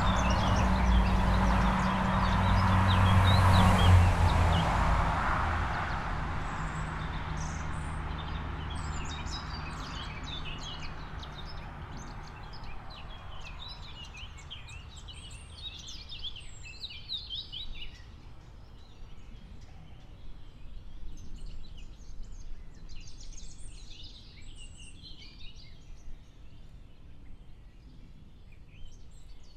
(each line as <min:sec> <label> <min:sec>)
0:00.0 traffic 0:21.4